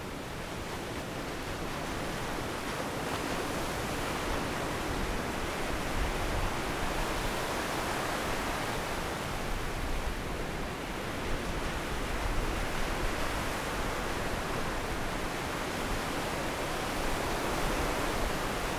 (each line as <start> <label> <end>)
0.0 waves 18.7